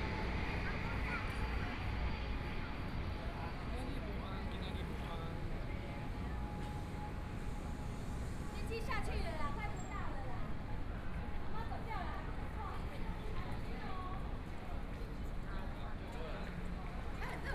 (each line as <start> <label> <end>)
0.0 Pedestrians on the road 17.5